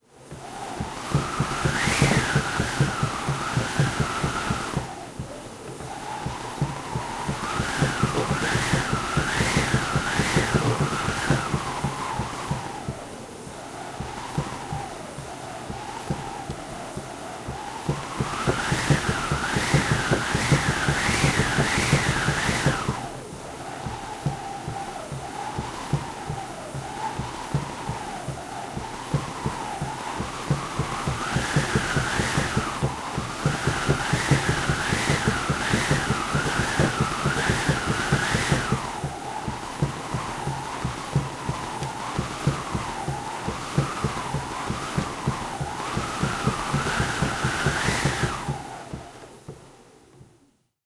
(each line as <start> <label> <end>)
0.0 Old wind machine 50.4